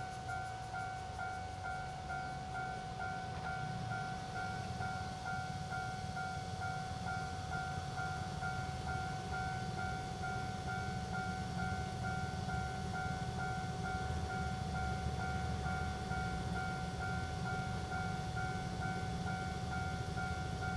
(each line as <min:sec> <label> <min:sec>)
0:00.0 Railroad Crossing 0:20.7
0:00.0 The train runs through 0:20.7